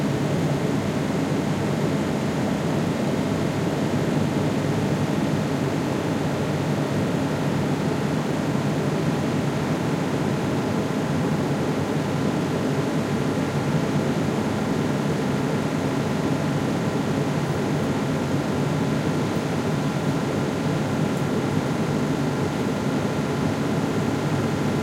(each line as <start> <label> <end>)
0.0 Fan Ventilation 24.8